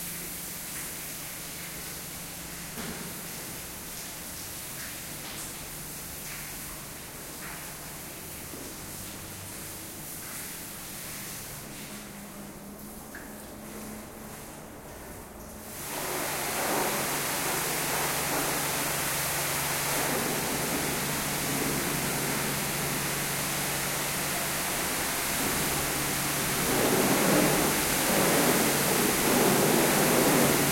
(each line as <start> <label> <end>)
13.6 Hose cleaning floor 30.7